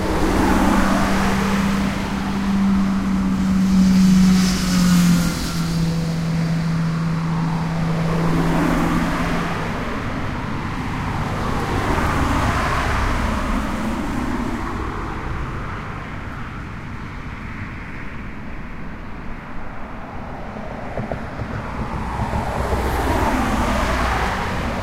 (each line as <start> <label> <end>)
0.0 motorcycle 13.6
0.0 Cars and vans passing in both directions 24.8
0.0 truck 24.8